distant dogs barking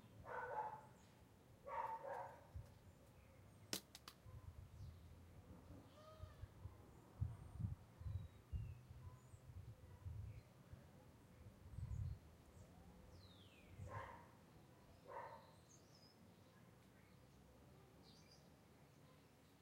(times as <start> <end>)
0.2 1.0, 1.6 2.5, 13.8 14.4, 15.0 15.6